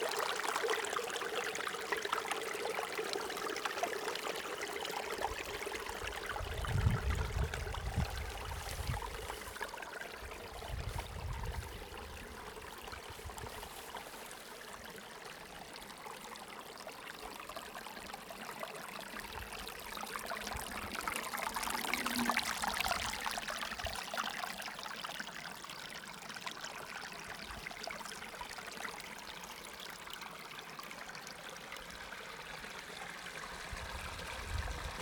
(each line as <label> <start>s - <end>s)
Following stream downhill 0.0s - 35.0s
wind noise 6.3s - 9.4s
wind noise 10.5s - 12.4s
wind noise 33.7s - 35.0s